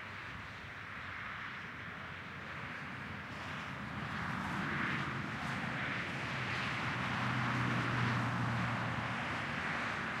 0.1s passby of cars 10.2s

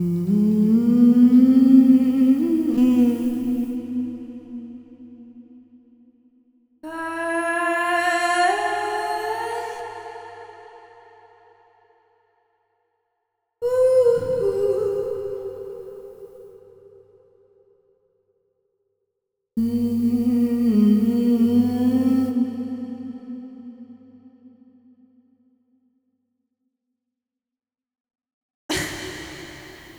0.0s soulful singing vocal shots 5.8s
6.8s soulful singing vocal shots 11.8s
13.6s soulful singing vocal shots 16.4s
19.6s soulful singing vocal shots 24.6s
28.7s soulful singing vocal shots 29.9s

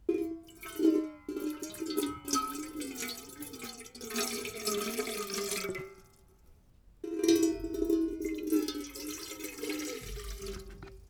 7.4s pouring water in metal container 11.0s

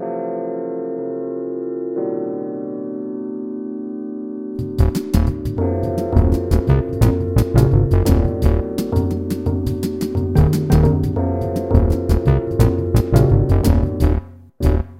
4.6s percussion 13.9s
4.6s dx7 chords 14.9s
4.6s flatulent bass 14.9s

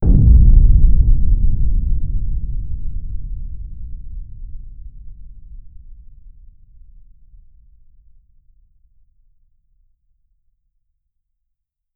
0.0s impact sound 6.6s

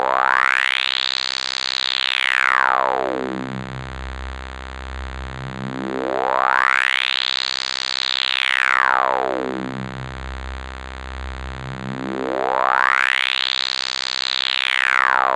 9.6s agressive bass 12.1s

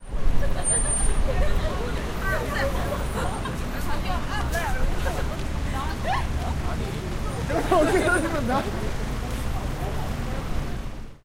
0.0s Traffic 11.2s
0.3s People laughing 6.4s
7.4s People laughing 8.9s

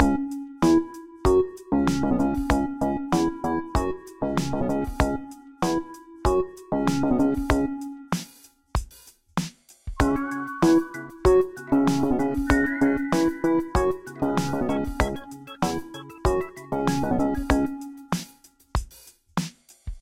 10.0s Funk Lead Loop 18.4s

